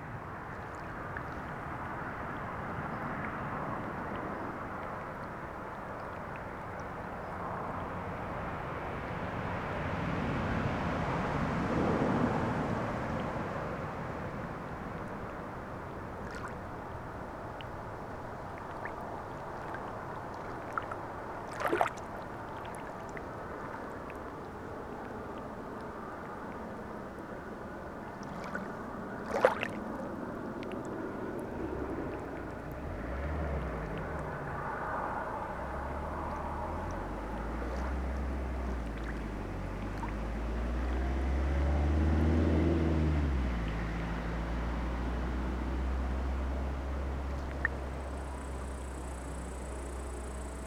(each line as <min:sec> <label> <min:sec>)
0:00.0 cars passing by 0:50.6